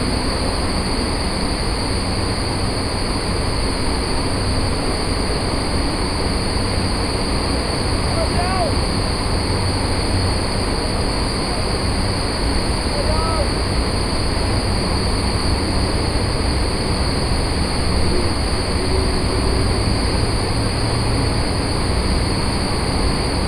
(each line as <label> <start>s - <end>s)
Air Conditioning 0.0s - 23.4s